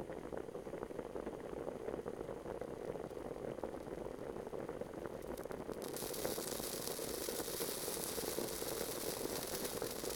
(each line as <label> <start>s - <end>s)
boiling eggs in a small pot 0.0s - 10.1s
rumble of boiling water 0.0s - 10.1s
drops of water trapped under the pot sizzling 5.2s - 10.1s